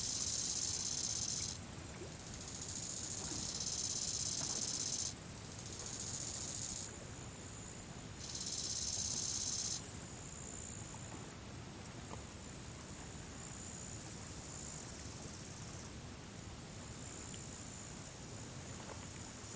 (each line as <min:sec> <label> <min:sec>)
0:00.0 insect life 0:11.5